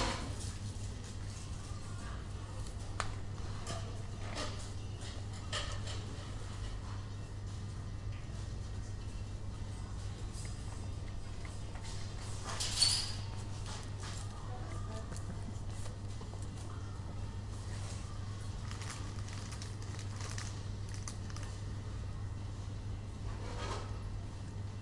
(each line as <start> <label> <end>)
14.2 people talking 15.5